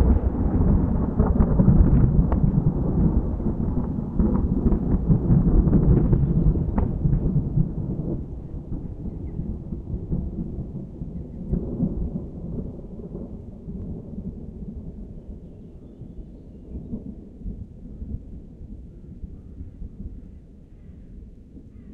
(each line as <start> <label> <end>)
0.0 Heavy Thunder Strike 13.4